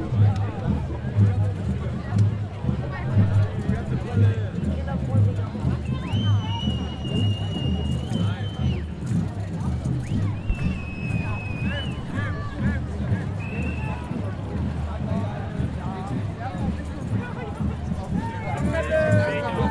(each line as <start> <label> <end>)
9.9 Ghosts Parade 15.7